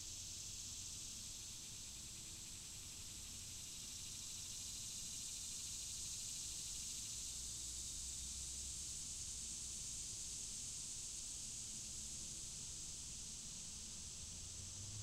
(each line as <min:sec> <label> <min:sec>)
0:00.0 cicadas 0:15.0